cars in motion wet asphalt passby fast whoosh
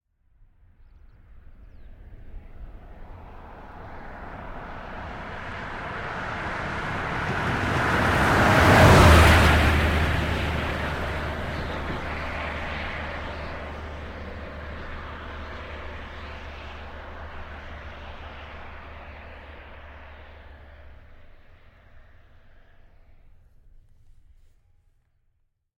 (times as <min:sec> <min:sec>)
0:02.8 0:23.0